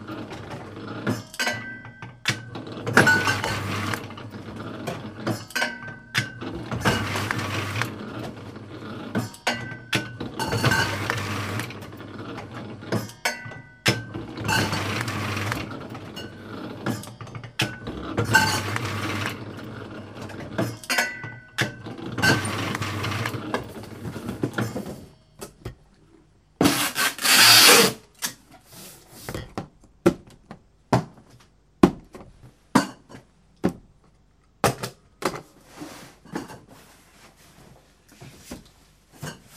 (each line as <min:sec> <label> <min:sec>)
0:26.6 packing them in boxes 0:32.5